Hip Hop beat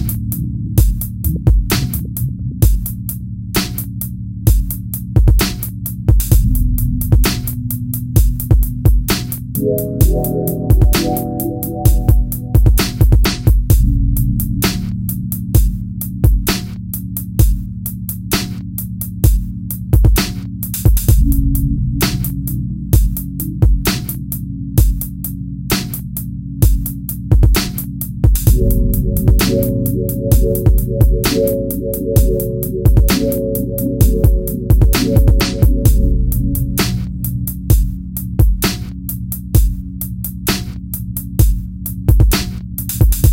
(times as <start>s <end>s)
0.0s 3.0s, 8.3s 13.9s, 28.3s 38.6s